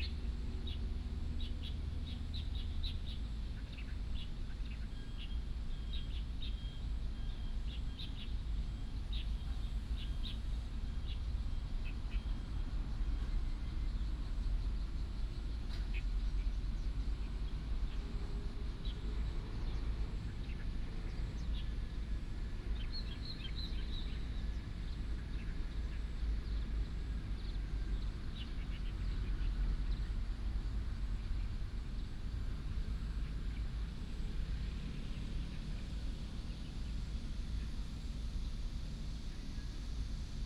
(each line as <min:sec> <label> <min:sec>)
0:00.0 birds sound 0:34.0